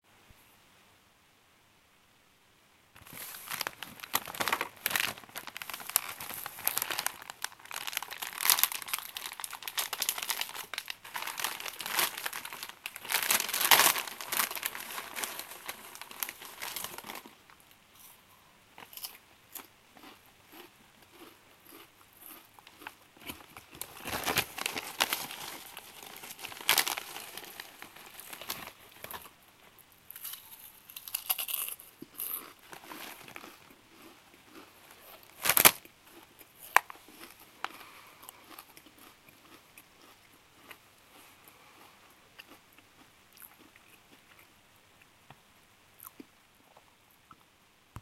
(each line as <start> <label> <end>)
3.0 Opening a bag of potato chips 17.3
3.0 Eating Chips 17.4
18.8 Eating Chips 29.4
23.3 Opening a bag of potato chips 29.2
30.1 Eating Chips 44.5
35.3 Opening a bag of potato chips 35.8